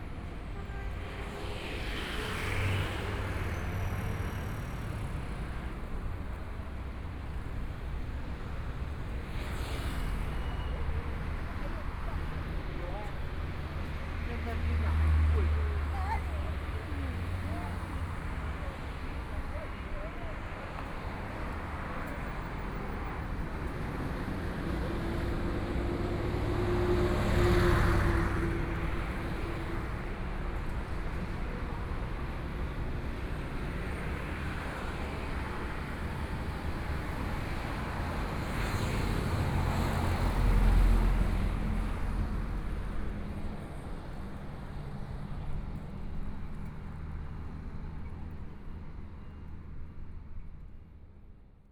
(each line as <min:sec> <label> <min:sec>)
0:00.0 Traffic Sound 0:51.1
0:00.0 walking on the Road 0:49.9